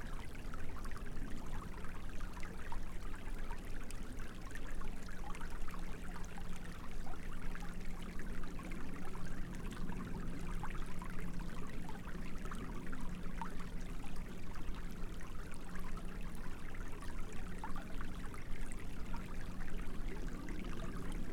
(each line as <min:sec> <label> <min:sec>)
0:00.0 Creek 0:21.3